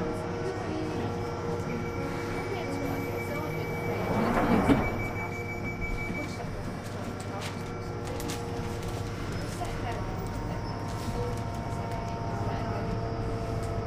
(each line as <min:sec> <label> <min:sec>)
0:00.0 train 0:13.8
0:00.1 announcement 0:08.6